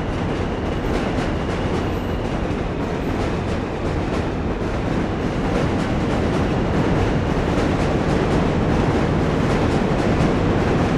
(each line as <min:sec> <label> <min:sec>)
0:00.0 Metro sound under the Manhattan bridge 0:10.9